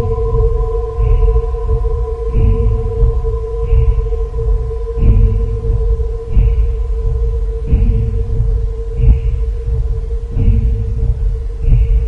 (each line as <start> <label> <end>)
0.0 Drone 12.0
0.0 old mystic Engine 12.0